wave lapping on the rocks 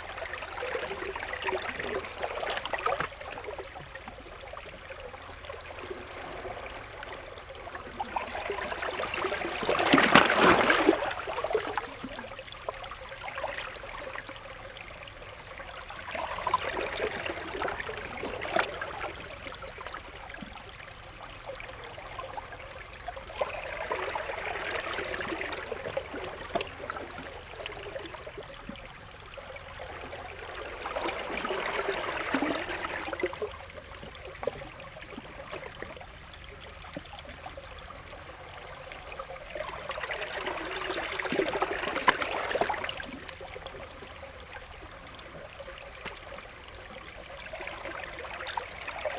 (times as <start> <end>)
5.5 14.2